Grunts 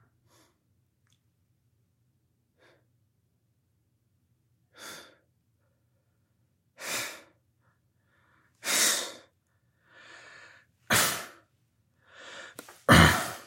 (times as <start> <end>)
12.9 13.4